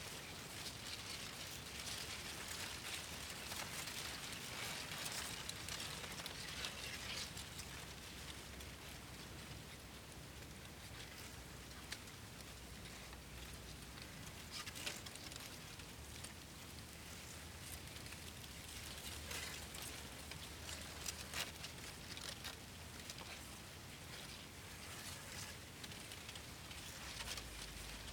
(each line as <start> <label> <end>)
0.0 Wind in the cornfield 28.1